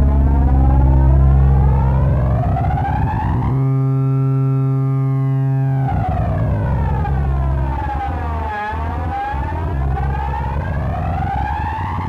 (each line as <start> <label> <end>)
0.0 feedback loop 12.0